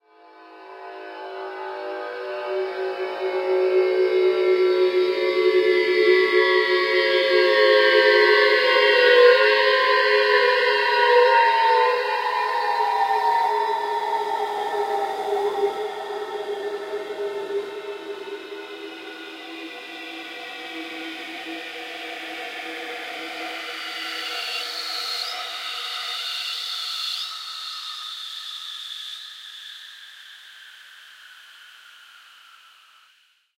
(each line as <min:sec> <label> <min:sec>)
0:00.5 A minor descent drone 0:25.9